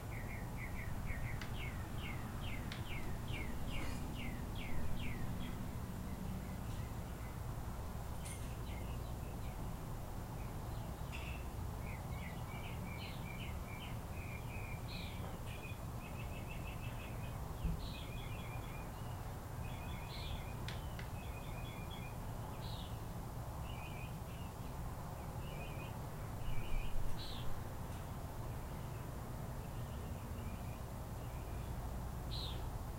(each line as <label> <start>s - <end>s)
bird 0.0s - 7.4s
bird 10.4s - 23.0s